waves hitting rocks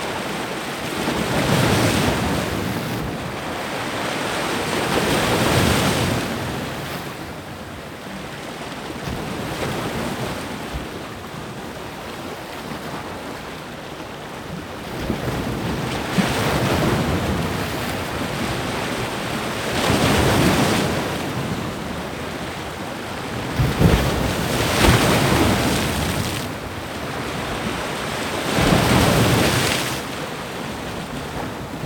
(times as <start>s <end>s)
15.1s 31.8s